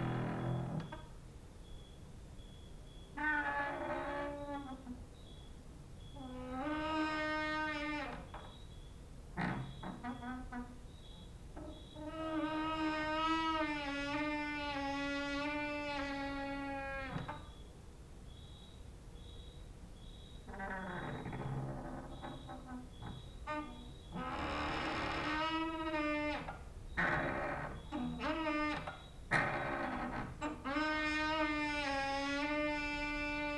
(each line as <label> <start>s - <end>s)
creaking with wooden doors 0.0s - 1.9s
cricket outside 0.0s - 33.5s
creaking with wooden doors 2.6s - 17.6s
creaking with wooden doors 20.1s - 33.5s